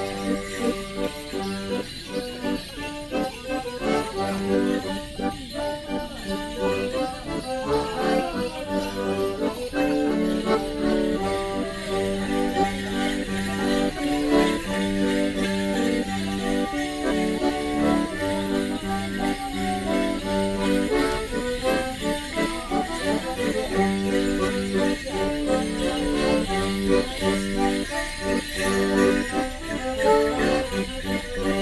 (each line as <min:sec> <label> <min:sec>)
0:00.0 Morris Men performing a one man jig 0:31.6